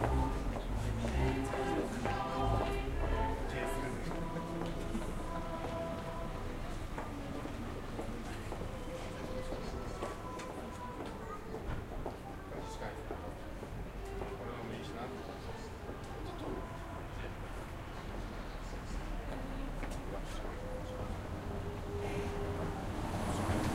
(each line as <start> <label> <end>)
0.0 car 5.5
0.0 people 23.7
0.0 singing nuns 23.7
19.7 car 23.7